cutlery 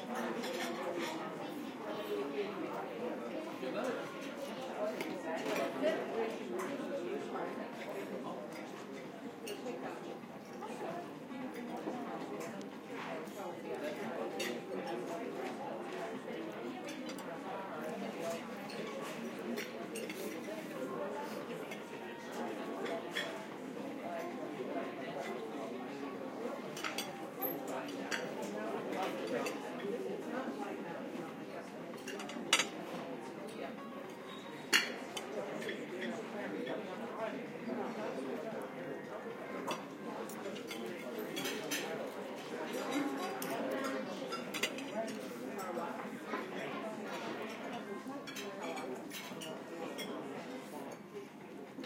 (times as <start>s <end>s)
32.1s 32.7s